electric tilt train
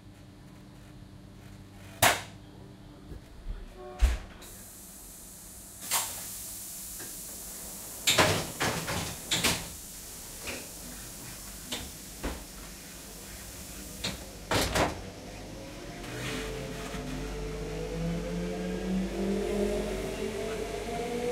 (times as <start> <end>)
5.6 21.3